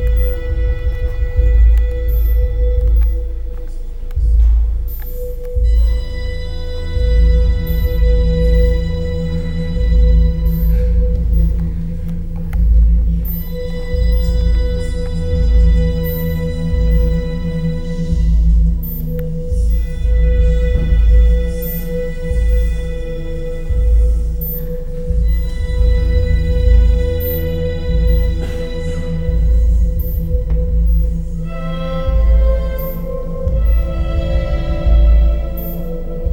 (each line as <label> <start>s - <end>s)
bühnenmusik 0.0s - 36.3s